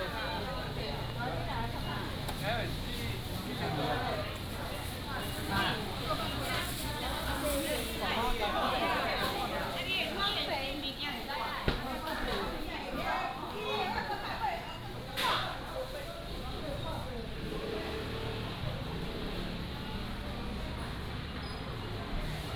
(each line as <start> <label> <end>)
0.0 Walking in the traditional market 22.5
14.8 Traffic sound 22.5